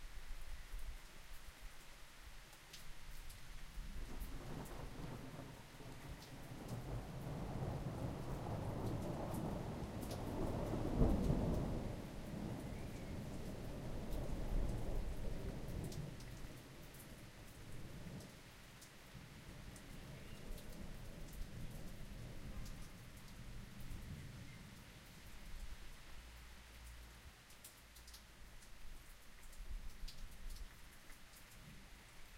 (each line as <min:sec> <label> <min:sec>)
0:00.0 rain 0:32.3
0:00.0 wind 0:32.3